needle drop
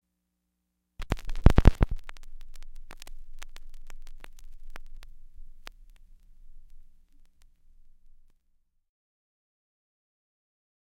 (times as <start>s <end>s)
1.0s 4.6s